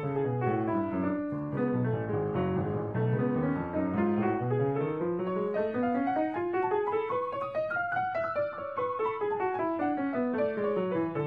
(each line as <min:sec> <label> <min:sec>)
0:00.0 Piano 0:11.2